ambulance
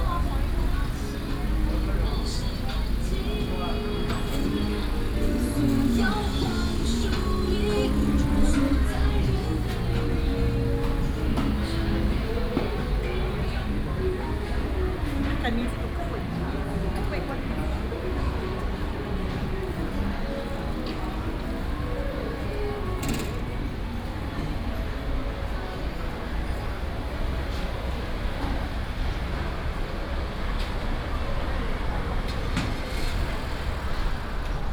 0:00.0 0:27.6

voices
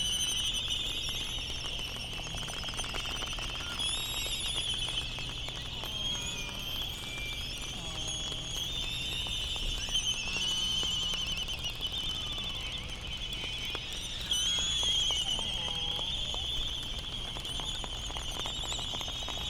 0:05.3 0:19.4

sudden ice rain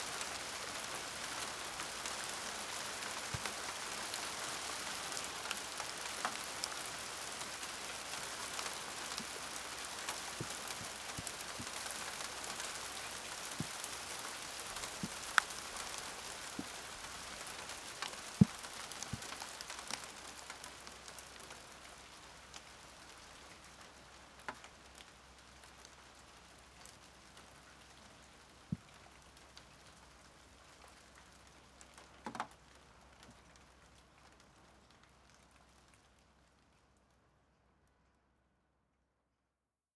0:00.0 0:27.9

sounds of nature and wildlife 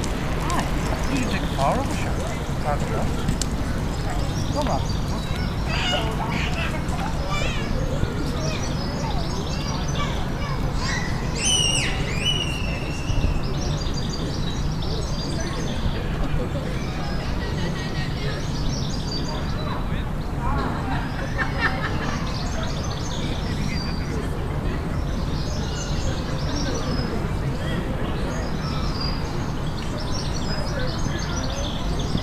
0:00.0 0:15.8

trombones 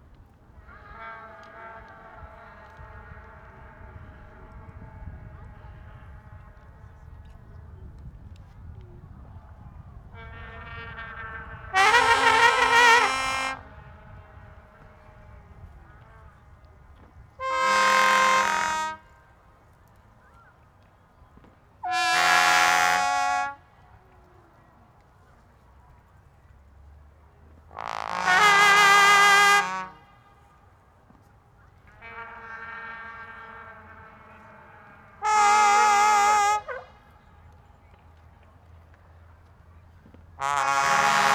0:10.0 0:16.6, 0:17.3 0:19.2, 0:21.8 0:23.6, 0:27.7 0:30.4, 0:31.8 0:37.2, 0:40.4 0:41.3

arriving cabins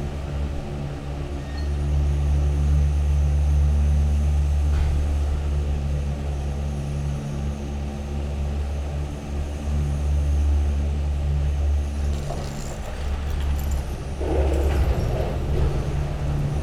0:11.6 0:16.6

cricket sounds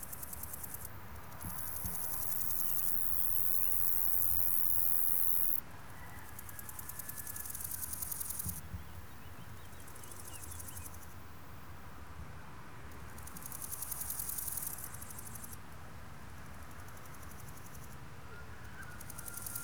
0:00.1 0:05.6, 0:18.8 0:19.6

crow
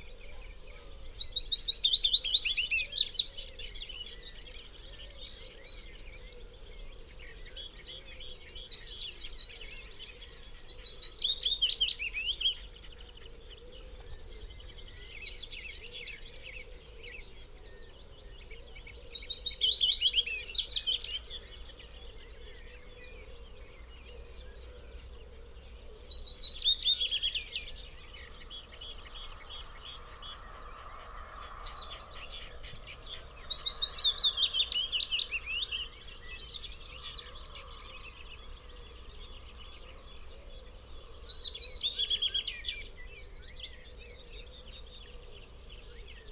0:28.0 0:40.8

